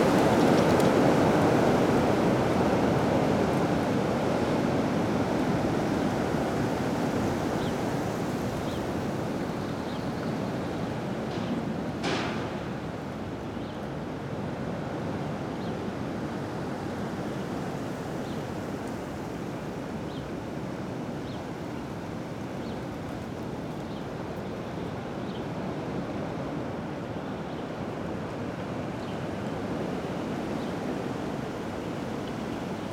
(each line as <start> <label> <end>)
0.0 strong wind in trees 32.9